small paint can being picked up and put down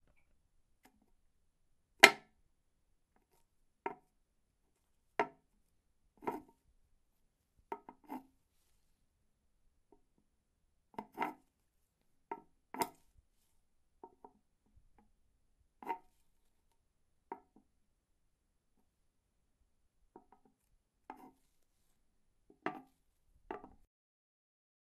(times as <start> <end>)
22.5 23.9